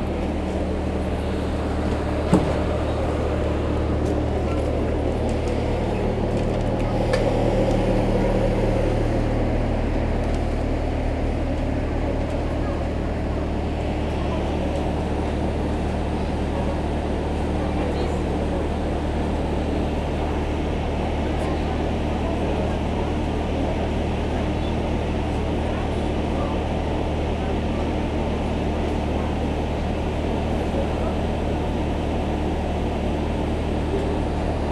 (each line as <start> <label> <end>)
0.0 Walking in the Charleroi train station 34.7